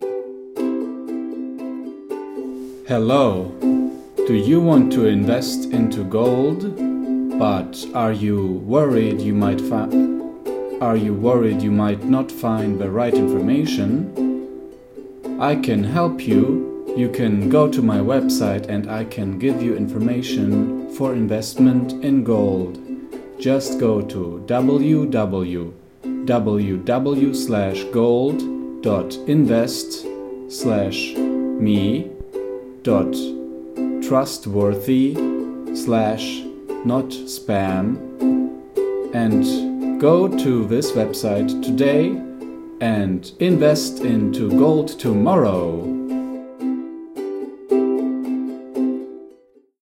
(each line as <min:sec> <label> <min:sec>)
0:02.8 poorly acted vocal ad read 0:03.6
0:04.2 poorly acted vocal ad read 0:10.2
0:10.8 poorly acted vocal ad read 0:14.2
0:15.4 poorly acted vocal ad read 0:32.2
0:32.8 poorly acted vocal ad read 0:33.4
0:34.0 poorly acted vocal ad read 0:38.1
0:34.0 beat 0:46.2
0:39.1 poorly acted vocal ad read 0:46.0